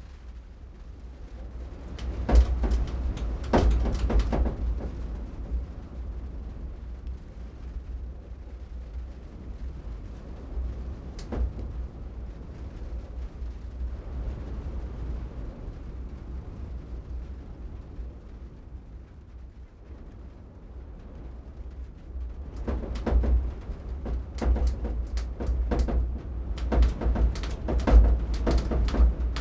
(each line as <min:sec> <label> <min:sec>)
0:00.0 BLOWING IN THE WIND 0:29.4